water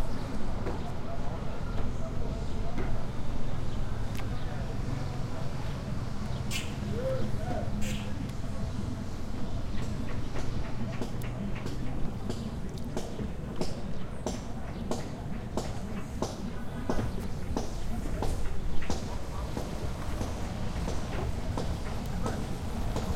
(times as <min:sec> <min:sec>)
0:11.5 0:13.6